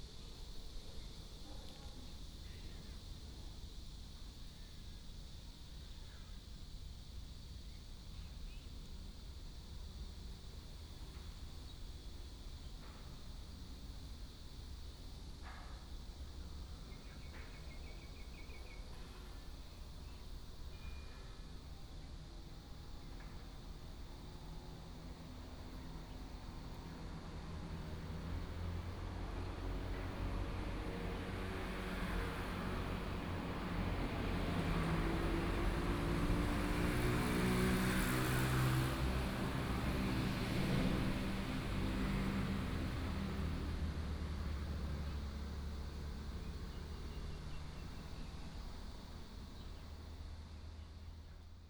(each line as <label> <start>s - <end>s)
Cicada 0.0s - 51.6s
Traffic sound 21.4s - 51.6s
train runs through 22.6s - 48.8s